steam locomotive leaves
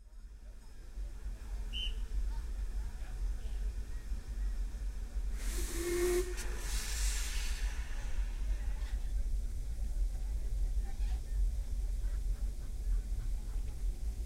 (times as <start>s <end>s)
4.9s 10.6s